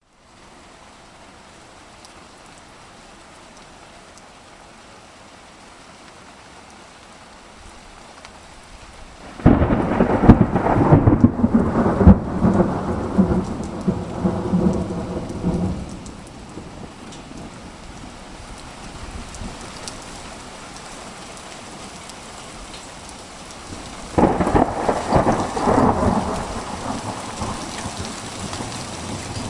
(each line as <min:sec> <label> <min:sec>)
0:00.0 rain 0:29.4
0:08.1 light hail (pea sized) 0:29.4
0:09.2 lightning 0:17.6
0:23.7 lightning 0:29.4